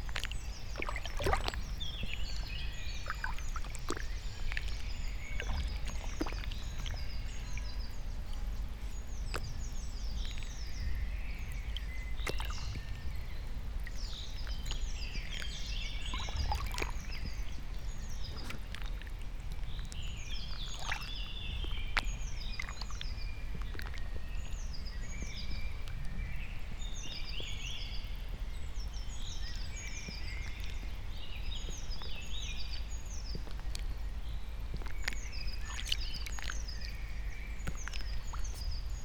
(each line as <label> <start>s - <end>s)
puddles 0.0s - 7.8s
puddles 13.8s - 26.0s
puddles 34.7s - 39.0s